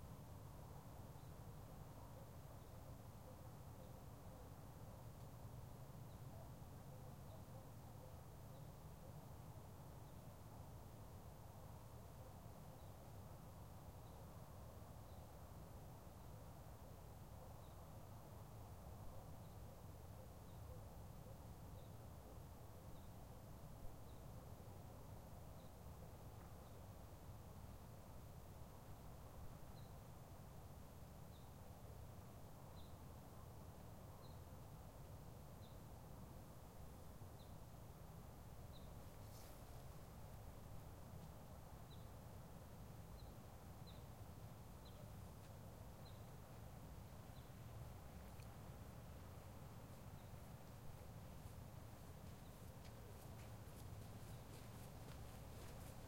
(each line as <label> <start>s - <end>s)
birds 51.4s - 56.0s